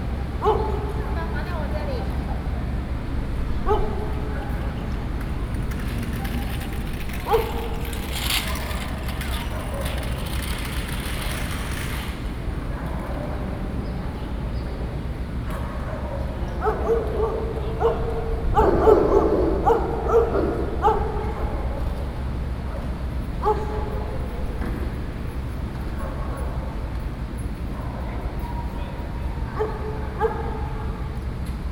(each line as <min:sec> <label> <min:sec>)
0:00.0 Traffic Sound 0:31.7
0:00.3 Dogs barking 0:01.3
0:03.6 Dogs barking 0:04.6
0:07.1 Dogs barking 0:10.7
0:15.5 Dogs barking 0:22.1
0:22.7 Dogs barking 0:24.4
0:29.4 Dogs barking 0:31.1